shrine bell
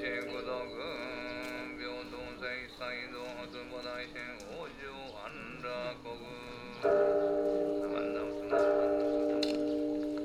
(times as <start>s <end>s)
0.0s 2.1s, 6.7s 10.2s